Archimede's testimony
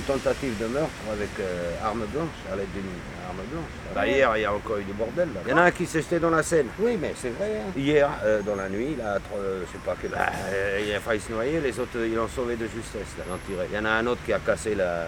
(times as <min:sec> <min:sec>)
0:00.0 0:11.9